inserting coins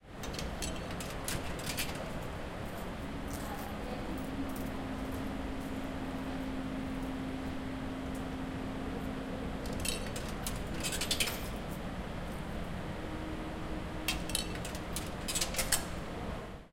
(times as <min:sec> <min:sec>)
0:00.2 0:02.1, 0:09.6 0:11.6, 0:14.1 0:16.0